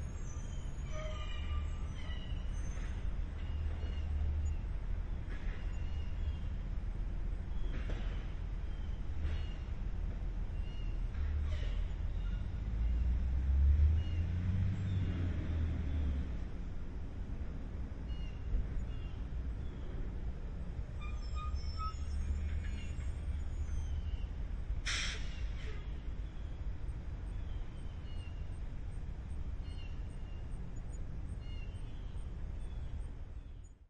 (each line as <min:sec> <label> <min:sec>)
0:10.6 school bus passing from left to right 0:33.1
0:11.4 very squeaky air brakes 0:12.4
0:21.0 very squeaky air brakes 0:23.9
0:24.8 very squeaky air brakes 0:26.0